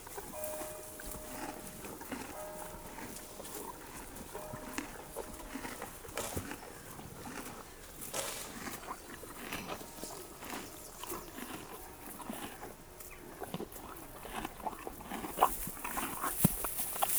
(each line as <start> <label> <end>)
0.0 bell of Vatteville-La-Rue rings 6.7
0.0 Horses 17.1